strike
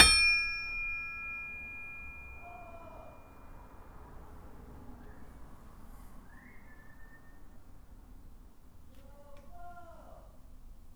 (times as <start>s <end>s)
0.0s 2.4s